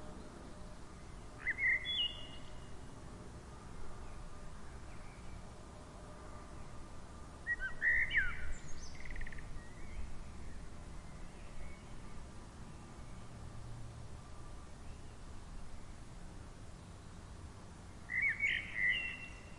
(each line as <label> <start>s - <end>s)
traffic in bgnd 9.0s - 18.2s